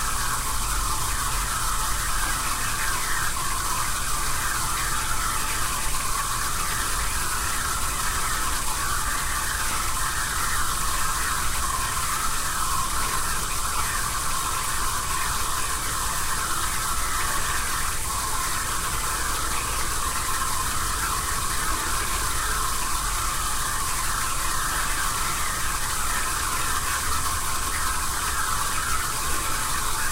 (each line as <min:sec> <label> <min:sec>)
0:00.0 noisy water filter 0:30.1